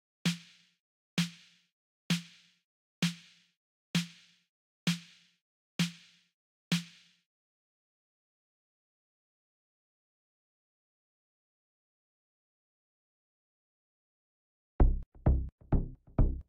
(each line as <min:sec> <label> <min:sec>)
0:00.3 snare 0:07.2